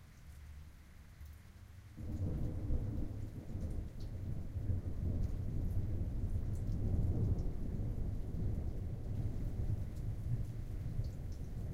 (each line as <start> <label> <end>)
0.0 rain 11.7
2.0 Thunder 11.0